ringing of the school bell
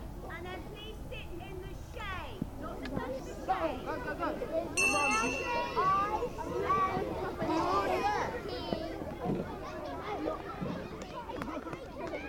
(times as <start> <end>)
4.8 7.7